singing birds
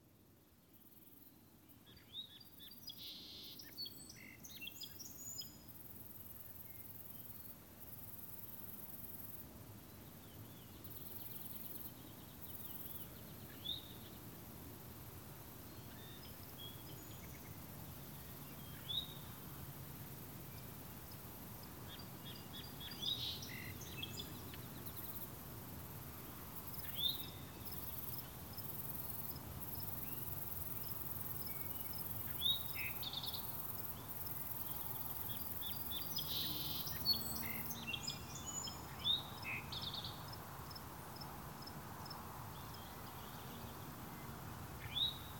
0.9 5.7, 15.6 25.4, 26.6 40.3

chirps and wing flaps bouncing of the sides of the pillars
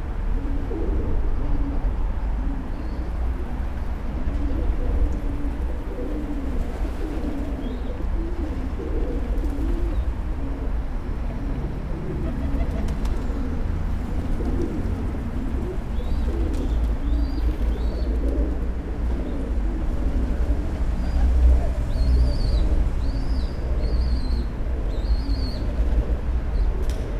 12.3 13.5

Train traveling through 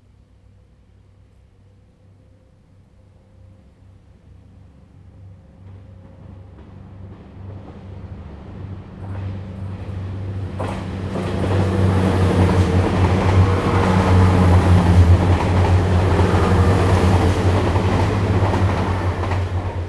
4.6 19.8

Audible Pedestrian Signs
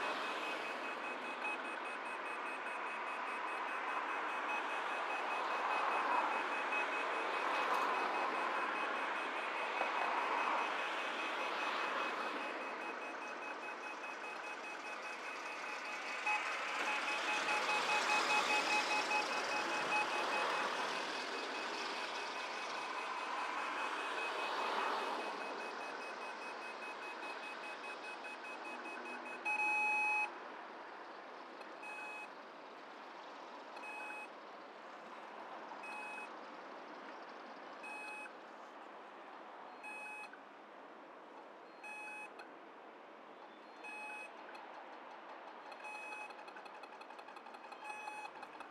0.0 30.3

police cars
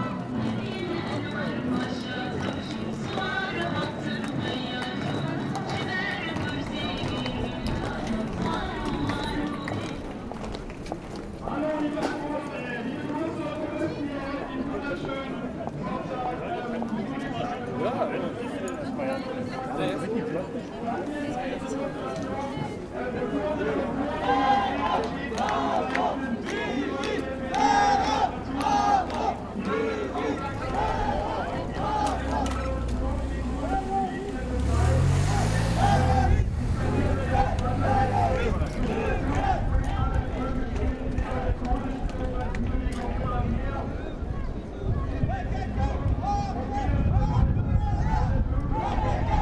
19.7 40.9

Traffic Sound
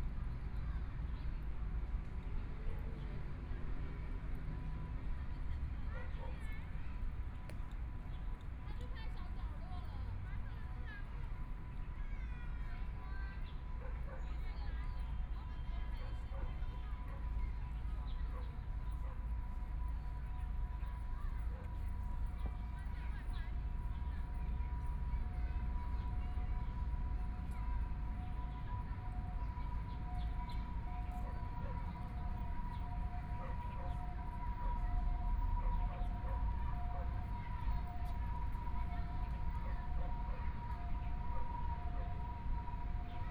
15.0 43.3

